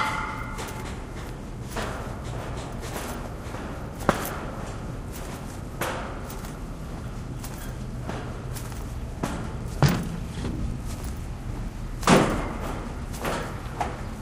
bang 0.0 - 3.2
Walking on the pier 0.0 - 14.2

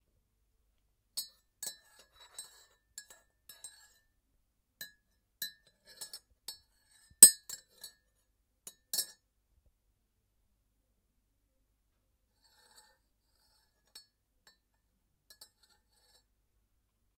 teaspoon tapping and stirring a china mug 1.2 - 4.0
teaspoon tapping and stirring a china mug 4.8 - 8.0
teaspoon tapping and stirring a china mug 8.7 - 9.2
teaspoon tapping and stirring a china mug 15.3 - 16.3

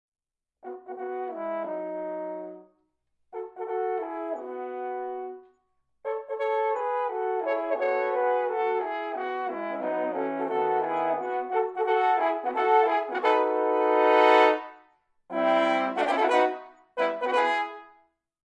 horncall 6.1 - 18.0

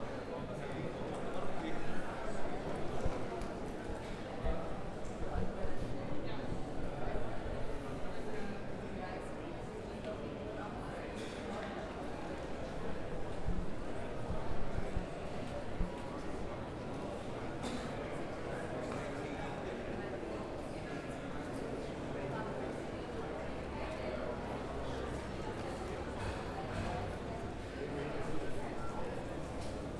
people chatting around me 0.0 - 29.9

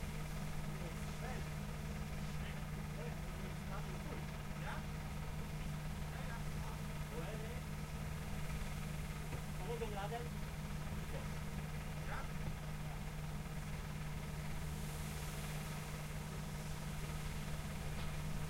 engine 0.0 - 18.4
voice 0.8 - 1.4
voice 2.2 - 4.9
voice 9.6 - 10.3

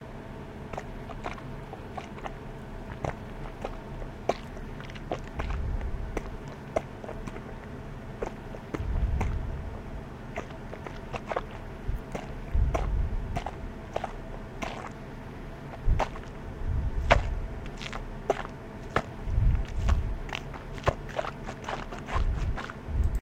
walking in deep mud 0.6 - 23.2

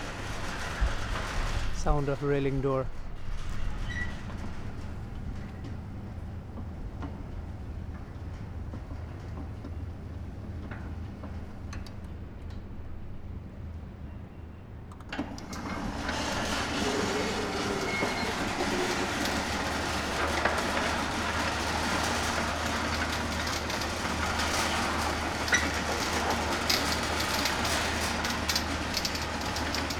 Squeaky smooth metal railing automatic door opening or closing 0.0 - 13.1
Squeaky smooth metal railing automatic door opening or closing 14.2 - 29.9

